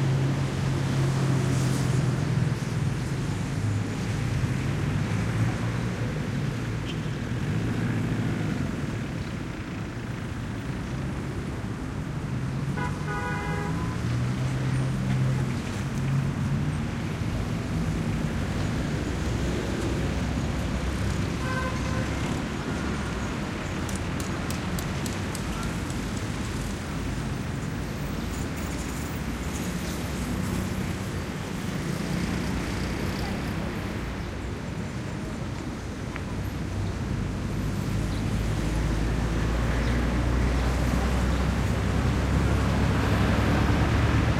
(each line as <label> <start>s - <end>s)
traffic heavy dense 0.0s - 44.3s